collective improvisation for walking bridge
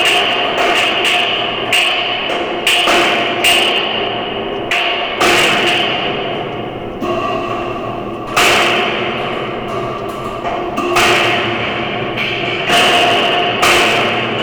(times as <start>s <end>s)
6.5s 8.8s, 9.6s 11.3s